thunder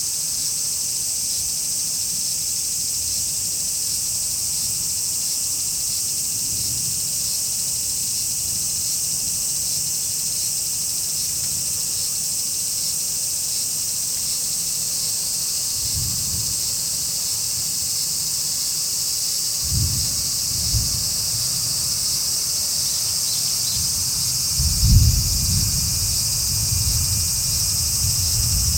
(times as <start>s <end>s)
19.6s 21.6s, 23.7s 28.7s